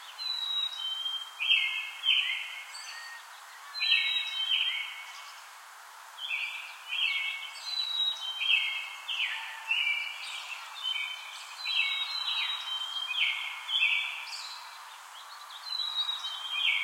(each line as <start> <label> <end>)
0.0 Birds,Chirps 5.5
6.2 Birds,Chirps 16.8